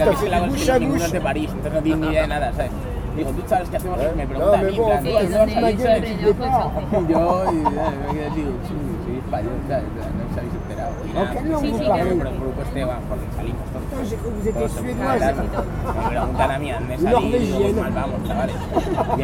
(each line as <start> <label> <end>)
0.0 Spanish tourist are drinking beers 9.0